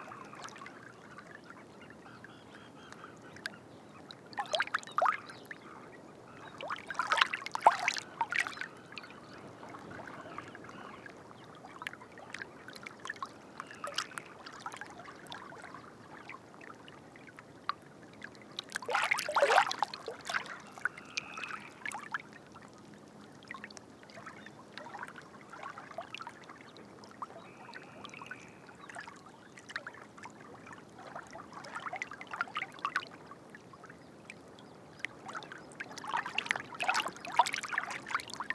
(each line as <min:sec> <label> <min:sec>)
0:00.0 Little Egret 0:38.5
0:18.8 Black-winged Stilt 0:22.3